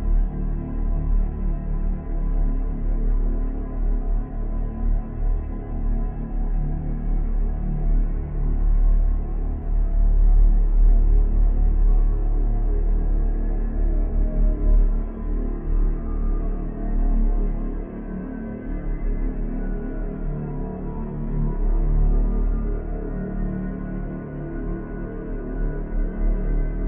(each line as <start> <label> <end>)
0.0 dark drone 26.8